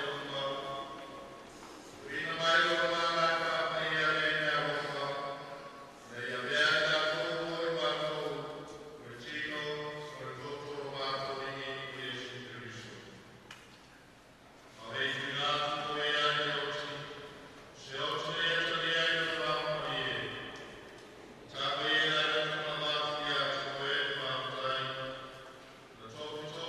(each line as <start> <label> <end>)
0.0 Speech 1.2
2.0 Speech 13.1
14.8 Speech 20.7
21.5 Speech 25.4
26.0 Speech 26.6